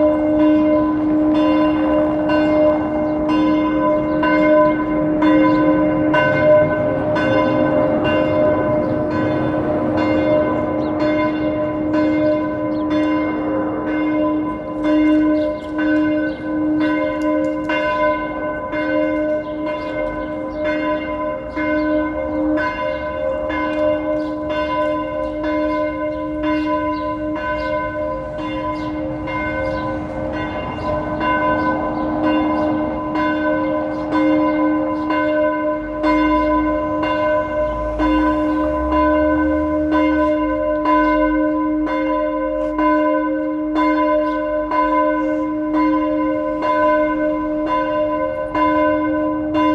0.0s Church bells 49.7s
0.0s traffic 49.7s
0.0s trams 49.7s

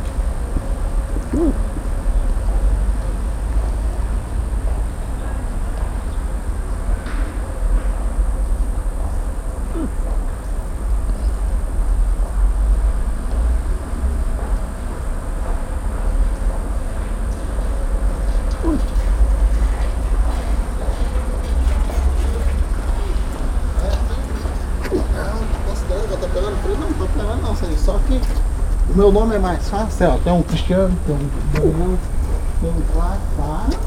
1.1s hiccups 1.9s
9.7s hiccups 10.1s
18.5s hiccups 19.1s
24.8s hiccups 25.3s
31.4s hiccups 32.6s
33.6s hiccups 33.8s

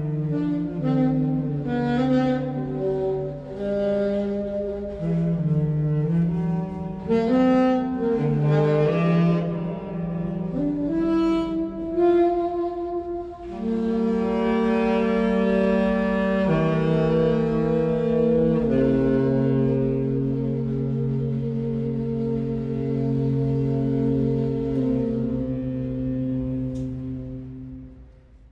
0.0s Tenorsax 28.5s

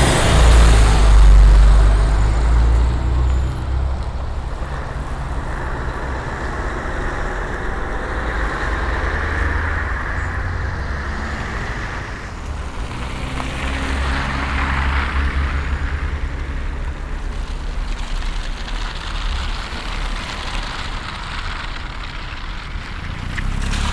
0.0s spikes sticking to the road as cars pass by 23.9s

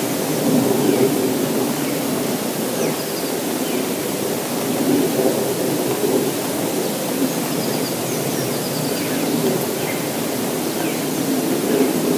1.8s Birds are singing 4.0s
6.8s Birds are singing 11.2s

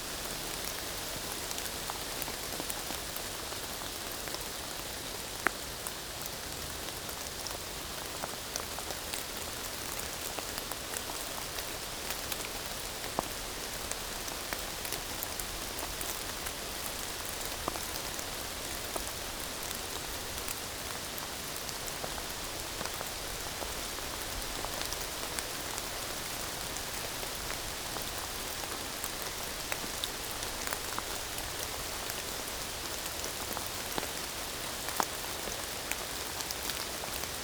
0.0s Rain is falling in the woods 37.4s

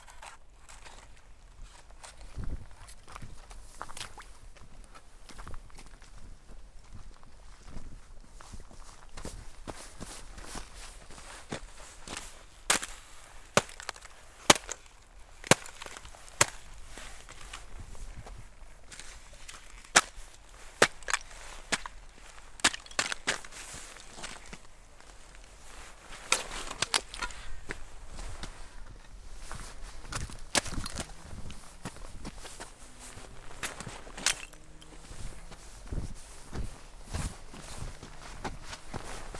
12.0s Ice Squelch 17.6s
18.9s Ice Squelch 24.6s
25.7s Ice Squelch 27.5s
30.1s Ice Squelch 31.6s
32.4s Ice Squelch 35.2s

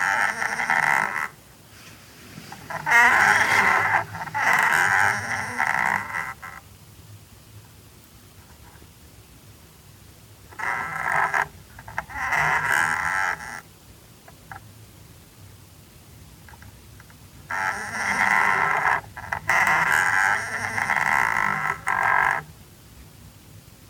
17.5s Water meter 22.5s

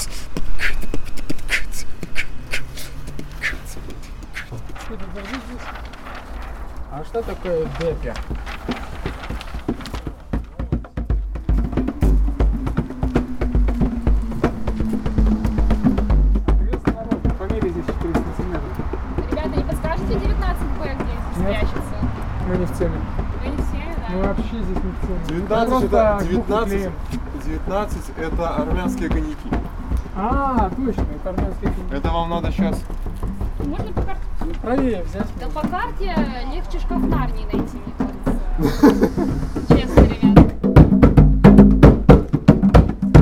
0.0s band Shaman Jungle making an art installation 43.2s
3.4s talking to people 6.0s
6.8s talking to people 8.4s
16.4s talking to people 40.6s

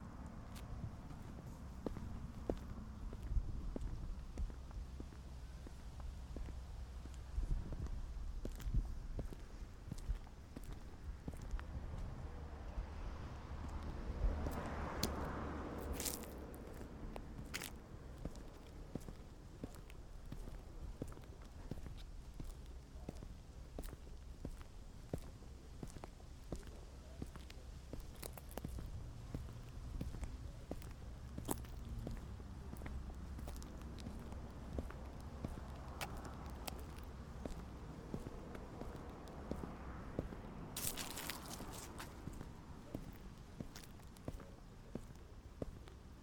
14.6s Dry leaves 17.8s
40.7s Dry leaves 44.2s

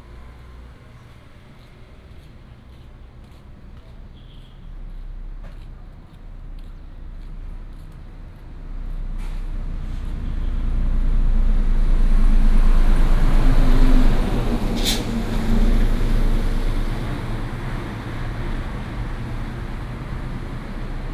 0.0s Traffic sound 21.1s

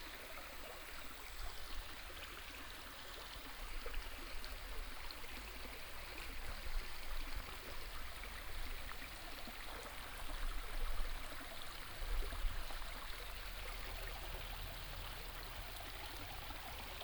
0.0s Stream 17.0s

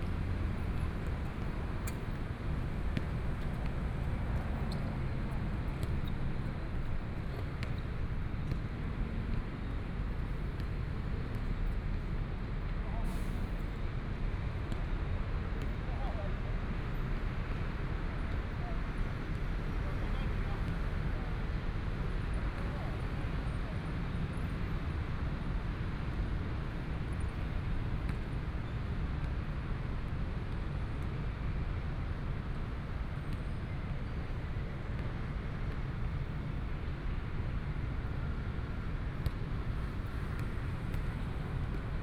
0.0s Traffic Sound 11.6s
0.0s walking in the Street 26.1s
32.7s walking in the Street 42.0s

